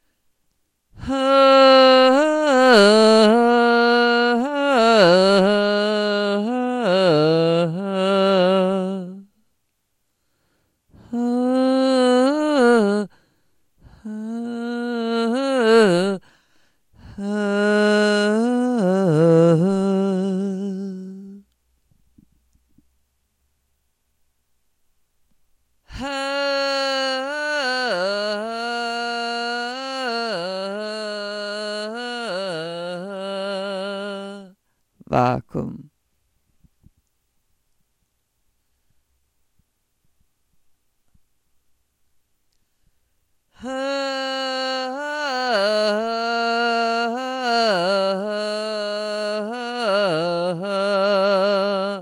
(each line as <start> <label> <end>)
0.0 vocals 9.5
10.8 vocals 22.9
25.8 vocals 36.0
42.5 vocals 52.0